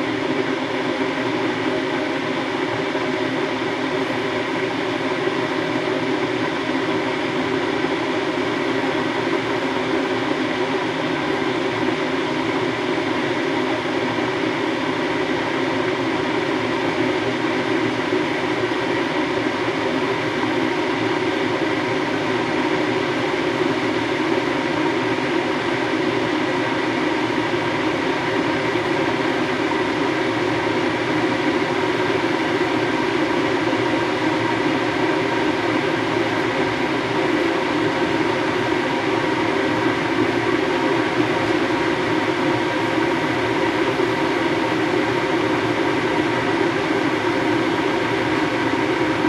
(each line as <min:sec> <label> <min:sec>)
0:00.0 kettle boiling 0:49.2